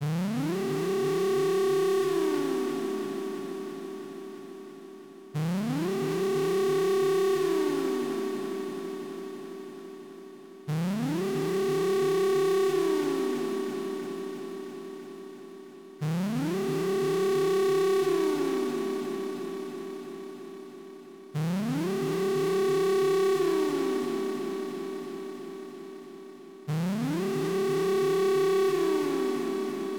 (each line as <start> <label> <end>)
0.0 Alarm Siren 2.4
5.4 Alarm Siren 7.8
10.7 Alarm Siren 13.4
16.0 Alarm Siren 18.9
21.4 Alarm Siren 24.1
26.7 Alarm Siren 29.9